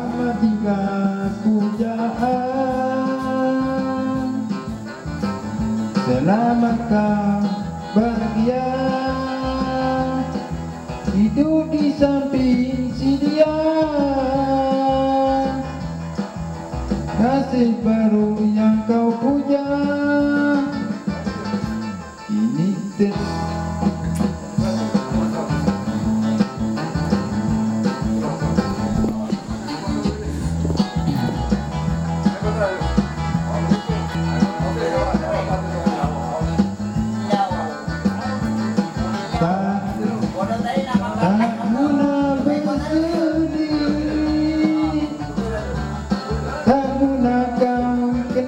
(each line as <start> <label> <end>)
18.9 kareoke a gogo 48.4